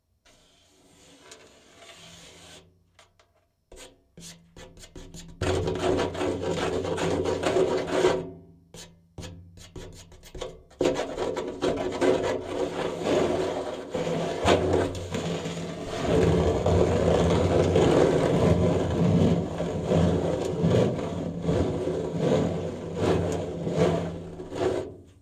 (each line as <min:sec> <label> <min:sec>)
0:03.7 Rubbing a plastic cup upside down on the surface 0:08.2
0:09.6 Rubbing a plastic cup upside down on the surface 0:25.2